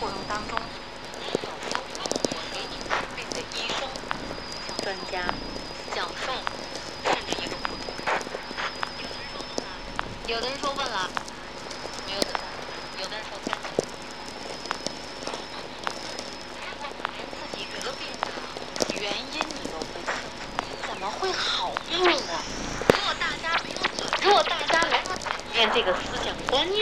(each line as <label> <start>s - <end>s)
Very low frequency mix with sw radio 0.0s - 26.8s